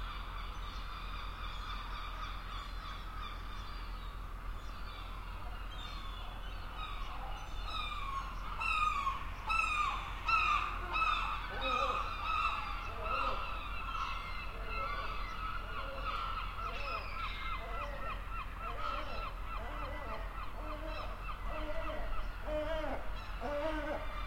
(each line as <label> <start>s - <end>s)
Seagulls 4.7s - 24.2s